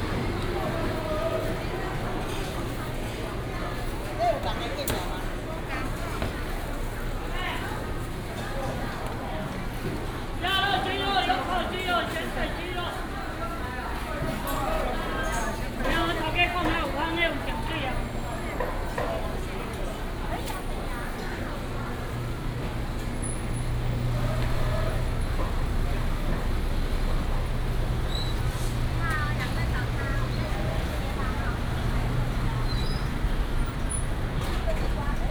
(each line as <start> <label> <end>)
0.0 Traffic sound 4.2
0.0 Walking in the traditional market 35.3
15.6 Traffic sound 35.3